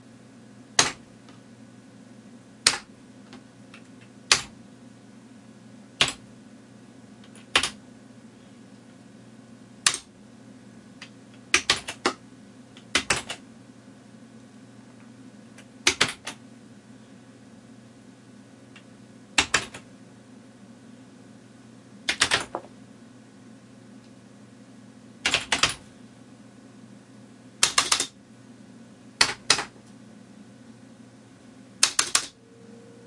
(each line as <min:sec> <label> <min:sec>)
0:07.3 typing keystrokes 0:07.8
0:09.8 typing keystrokes 0:10.1
0:11.5 typing keystrokes 0:12.2
0:12.9 typing keystrokes 0:13.4
0:15.8 typing keystrokes 0:16.4
0:19.4 typing keystrokes 0:19.8
0:22.1 typing keystrokes 0:22.6
0:25.2 typing keystrokes 0:25.8
0:27.6 typing keystrokes 0:28.2
0:31.8 typing keystrokes 0:32.4